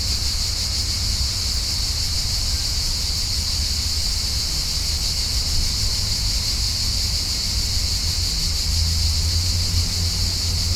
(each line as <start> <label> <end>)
0.0 High volume cicadas 10.7